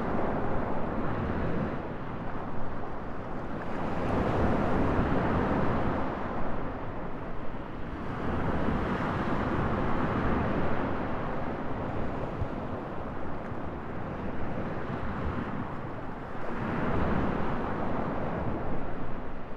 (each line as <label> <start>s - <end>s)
Mediterranean Sea on the beach 0.0s - 19.5s